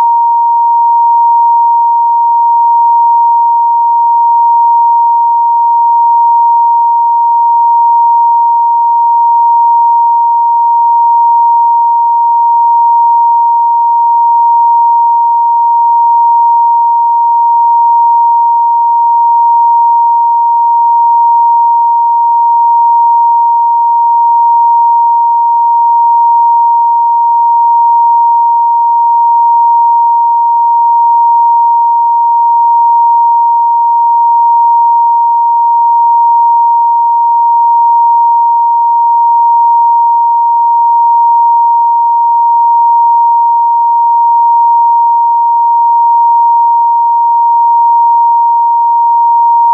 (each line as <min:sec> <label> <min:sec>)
0:00.0 Pure Sine Wave 0:49.7